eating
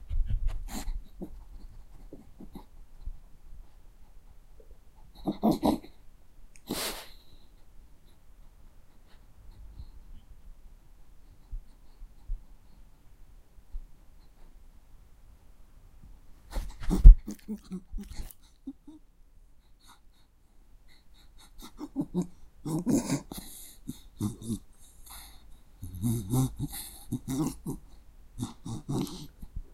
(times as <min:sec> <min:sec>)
0:16.8 0:18.8, 0:21.6 0:29.5